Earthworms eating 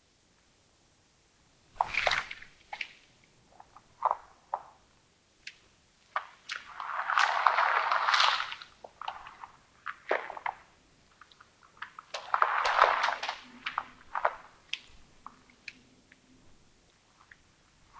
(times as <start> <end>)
5.4 16.3